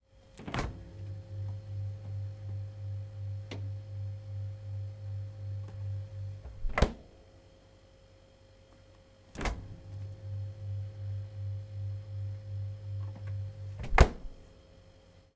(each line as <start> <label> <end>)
0.4 opening and closing fridge door 1.1
0.4 fridge cooling 7.4
6.4 opening and closing fridge door 7.0
9.3 fridge cooling 15.1
9.3 opening and closing fridge door 10.0
13.2 opening and closing fridge door 14.4